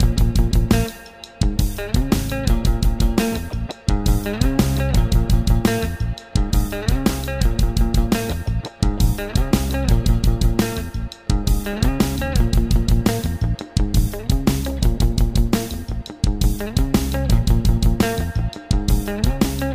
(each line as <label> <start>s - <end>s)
Bass 0.0s - 19.7s
guitar 0.0s - 19.7s
programmed drums 0.0s - 19.7s